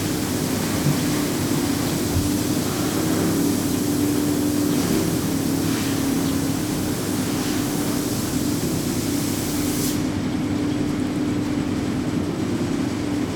tea processing 0.0 - 9.2

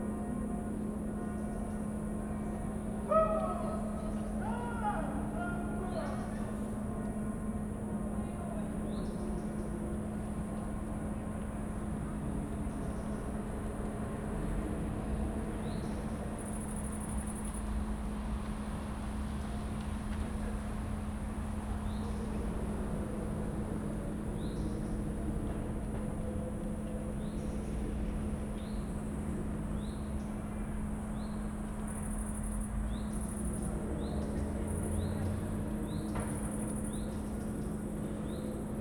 hypnotic drones from the mill 0.0 - 38.8
distant soccer match 0.1 - 8.9
crickets 11.6 - 38.8

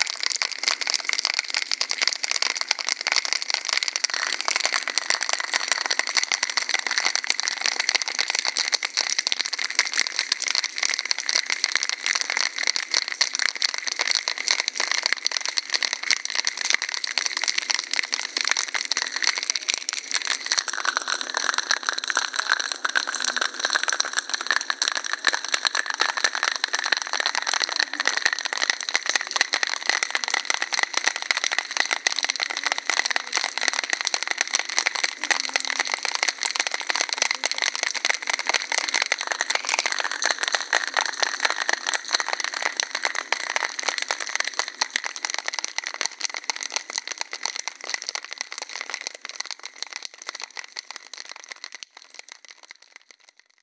Dripping Icicles 0.0 - 47.2

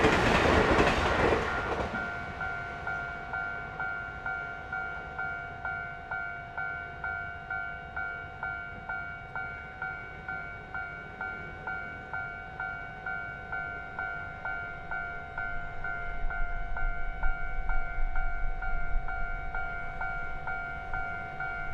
The train runs through 0.0 - 21.7

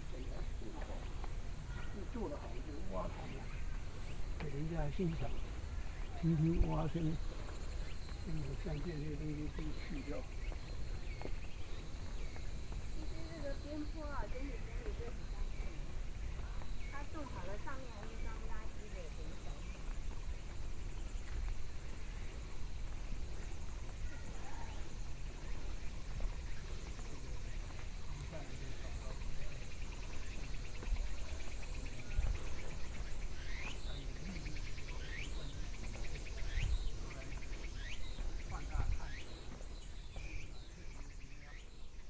birds song 0.0 - 42.0
walking in the Park 0.0 - 42.0

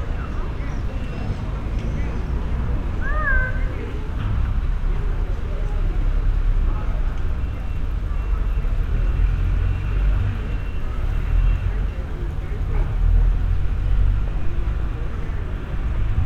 construction works in the distance 0.0 - 16.2
pedestrians 0.0 - 16.2

